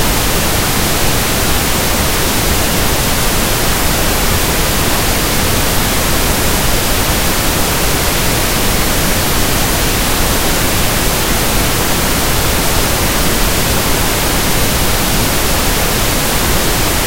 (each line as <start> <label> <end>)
0.0 white noise 17.0